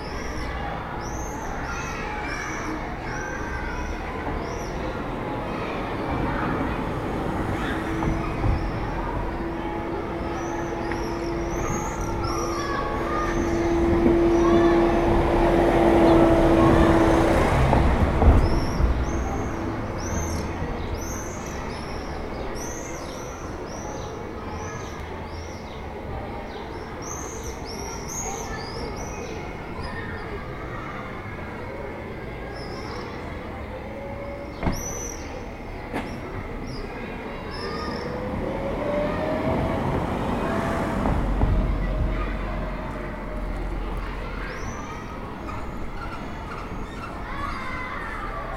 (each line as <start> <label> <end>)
0.0 les cloches de Notre Dame sonnent 48.5
0.0 martinets crient dans le ciel 48.5
0.0 voitures de passage 48.5